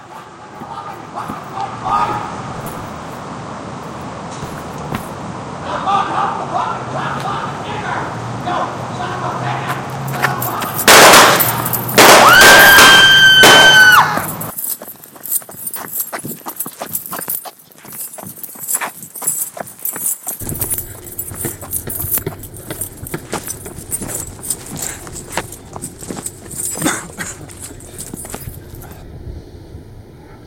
0.0s riding your horse 5.2s
9.1s arguing 29.2s
9.6s riding your horse 29.2s
10.8s shooting 13.9s

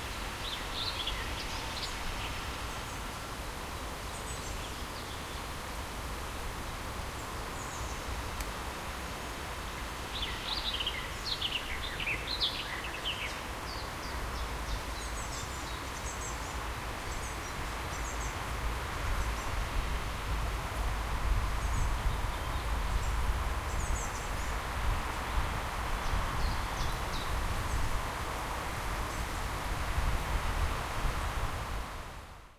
10.1s birds singing 16.5s

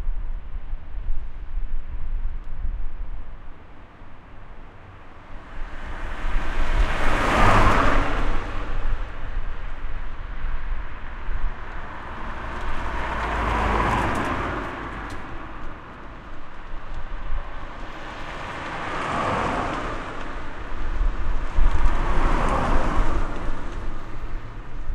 3.4s cars passing by 24.9s

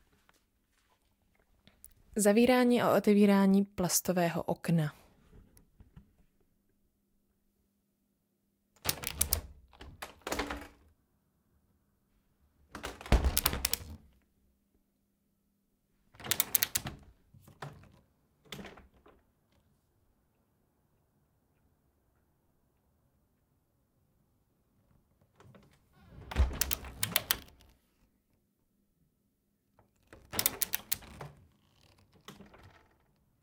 8.8s plastic window open/close 10.8s
12.7s plastic window open/close 14.1s
16.2s plastic window open/close 19.3s
25.4s plastic window open/close 28.0s
29.8s plastic window open/close 33.4s

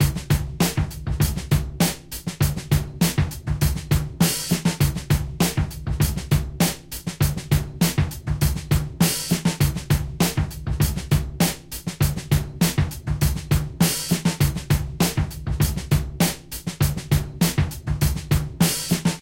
0.0s Real drums 19.2s

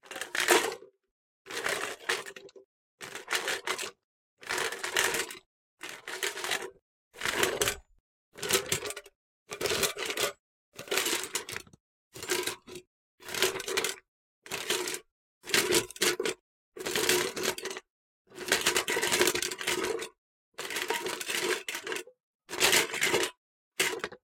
0.1s Wooden/Plastic/Metal utensils being shaken in a metal tub 0.8s
1.5s Wooden/Plastic/Metal utensils being shaken in a metal tub 2.5s
3.1s Wooden/Plastic/Metal utensils being shaken in a metal tub 7.8s
8.4s Wooden/Plastic/Metal utensils being shaken in a metal tub 11.6s
15.6s Wooden/Plastic/Metal utensils being shaken in a metal tub 24.2s

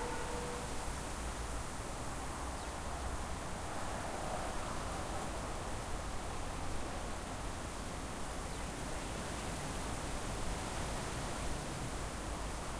0.0s distant traffic 1.7s
0.0s wind 12.7s

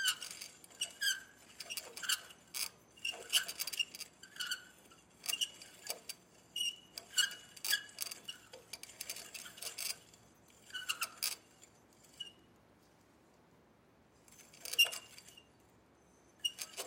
0.0s Clothesline metallic squeak 12.5s
14.6s Clothesline metallic squeak 16.8s

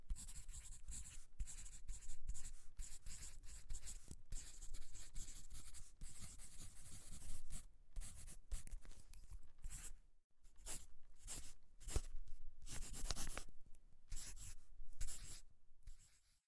0.0s Writing on paper with a pencil 16.4s

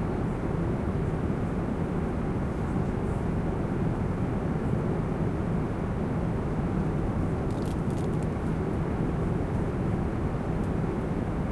0.0s engine and air noise 11.5s

